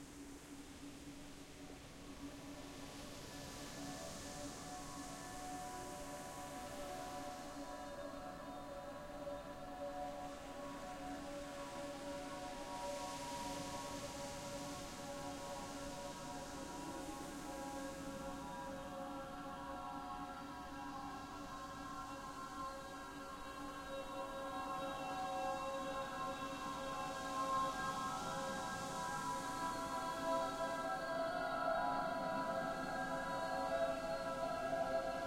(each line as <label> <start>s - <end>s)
ocean 0.0s - 35.2s